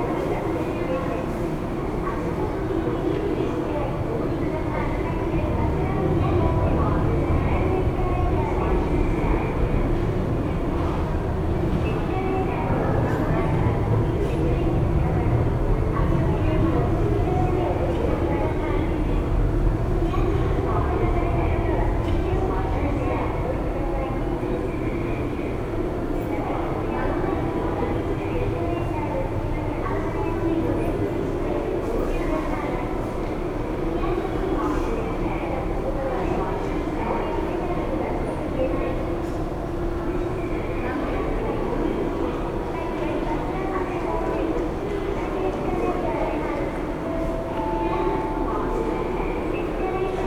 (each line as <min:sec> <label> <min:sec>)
0:00.0 passengers passing by 0:50.2
0:00.0 last domestic planes departing and arriving 0:50.2
0:40.2 announcements 0:50.2